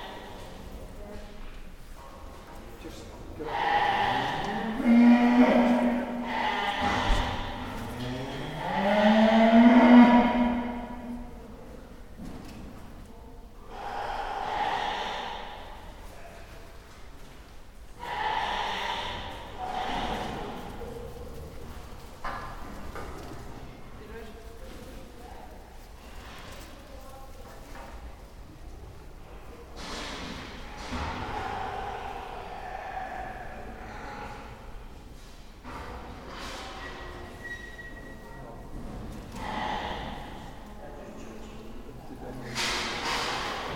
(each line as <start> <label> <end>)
3.5 cow 11.2
13.7 cow 15.7
18.0 ram that was baaing 20.6
18.0 cow 20.8
30.8 cow 34.7
39.3 cow 40.5